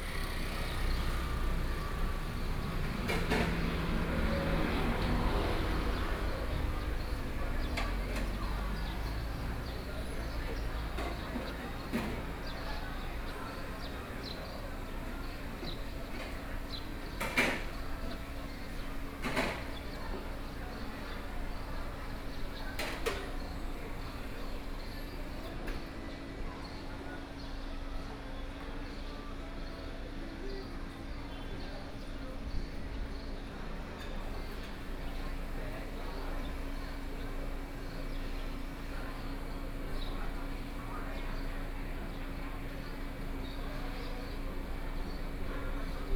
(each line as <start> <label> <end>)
0.0 Traffic Sound 25.5
34.2 Traffic Sound 46.1